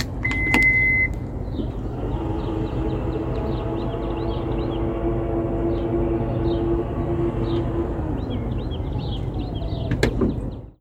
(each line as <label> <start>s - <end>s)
automatic trunk closing 0.0s - 4.1s
Birdsong 0.0s - 10.8s
automatic trunk closing 4.8s - 10.7s